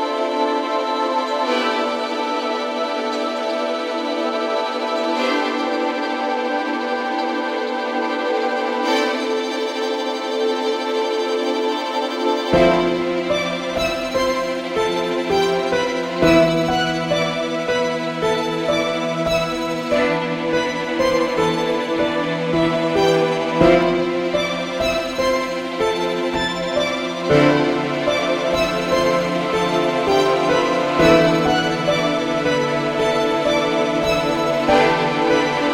cello 0:00.0 - 0:35.7
piano 0:00.0 - 0:35.7
violin 0:00.0 - 0:35.7

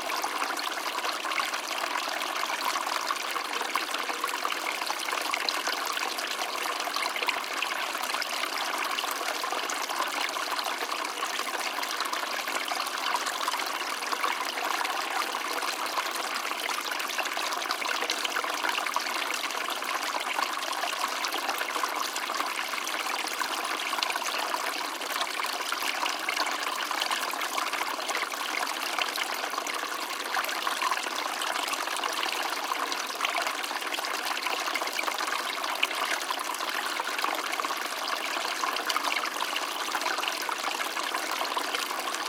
small water stream 0:00.0 - 0:42.2

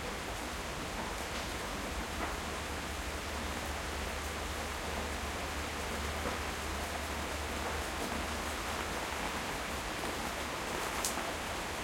rain 0:00.0 - 0:11.8

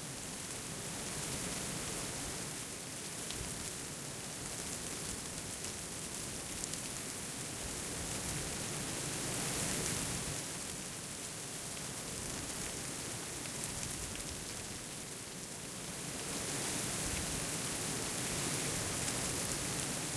brisk breeze through stiff dry corn stalks 0:00.0 - 0:20.1

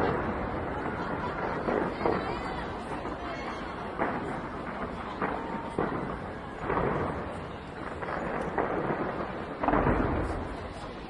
neighbors cheering and shouting 0:00.0 - 0:08.4
fireworks 0:00.0 - 0:11.0

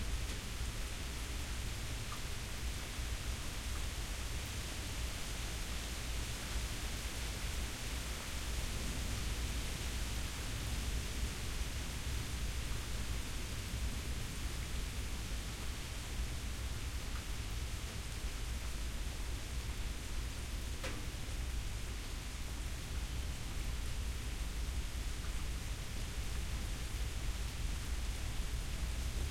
Rain 0:00.0 - 0:29.3

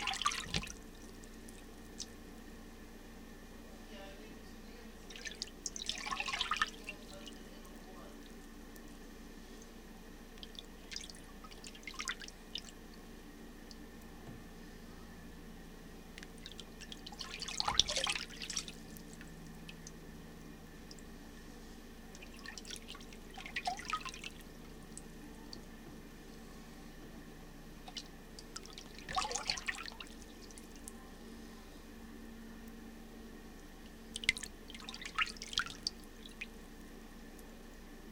paddling sound done in a plastic utility sink 0:00.0 - 0:02.2
paddling sound done in a plastic utility sink 0:05.0 - 0:07.5
paddling sound done in a plastic utility sink 0:16.2 - 0:19.9
paddling sound done in a plastic utility sink 0:22.2 - 0:25.0
paddling sound done in a plastic utility sink 0:27.8 - 0:30.7
paddling sound done in a plastic utility sink 0:34.1 - 0:36.6

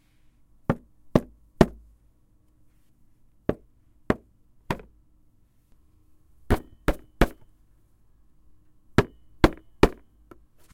Hitting cardboard board with hand 0:00.6 - 0:01.8
Hitting cardboard board with hand 0:03.5 - 0:04.9
Hitting cardboard board with hand 0:06.5 - 0:07.5
Hitting cardboard board with hand 0:09.0 - 0:10.4

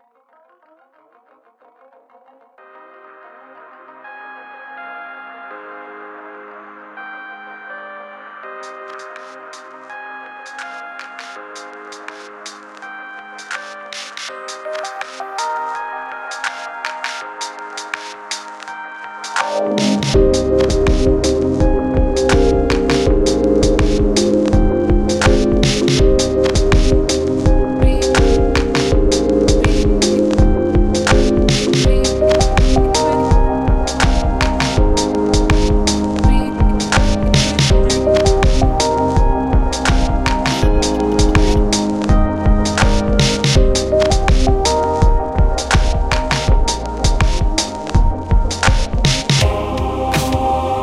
tune 0:19.5 - 0:50.8

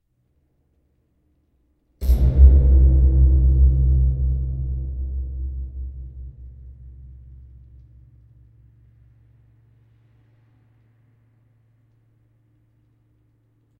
stinger 0:02.0 - 0:09.7
rumble 0:02.0 - 0:13.7

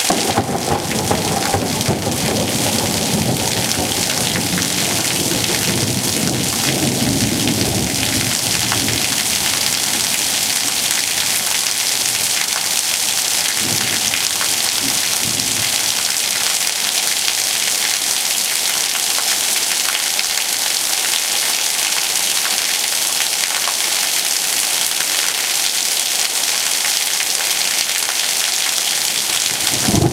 rain 0:00.0 - 0:30.1
thunder 0:00.0 - 0:11.2
thunder 0:13.5 - 0:15.8
thunder 0:29.6 - 0:30.1

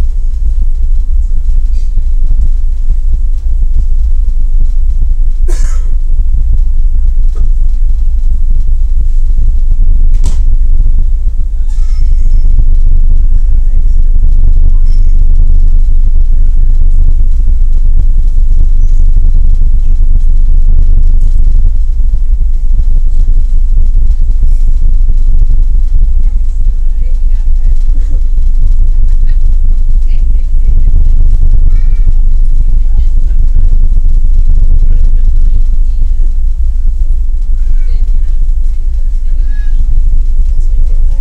muffled ferry engine 0:00.0 - 0:41.2
people talking 0:05.4 - 0:41.2

